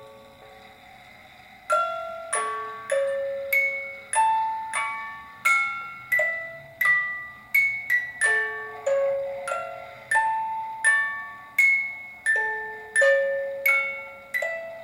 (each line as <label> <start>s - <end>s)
Noise of winding up 0.0s - 14.8s
music-box plays 0.0s - 14.8s